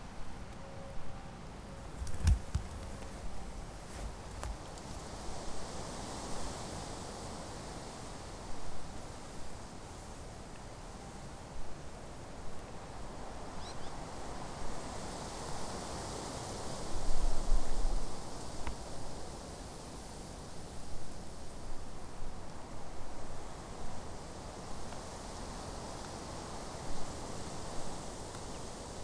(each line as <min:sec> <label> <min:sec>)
0:00.0 Wind in the grass 0:29.0
0:02.0 Cracking sounds from the nearby birch 0:03.3
0:03.9 Cracking sounds from the nearby birch 0:05.2